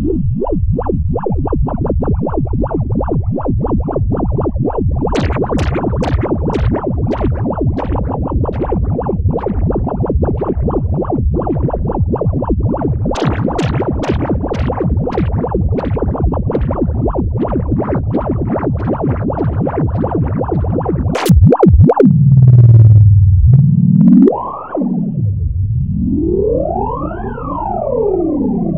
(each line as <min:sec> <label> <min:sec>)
0:21.1 Synth 0:28.7